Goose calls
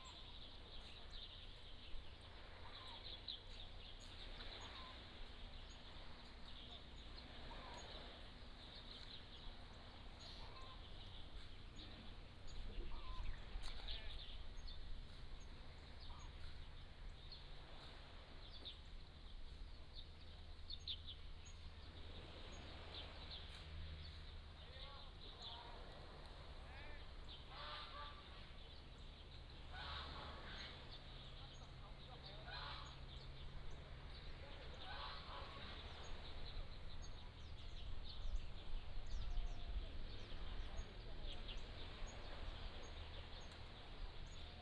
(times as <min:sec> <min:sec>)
0:27.5 0:28.4, 0:29.7 0:30.8, 0:32.4 0:33.0, 0:34.7 0:36.2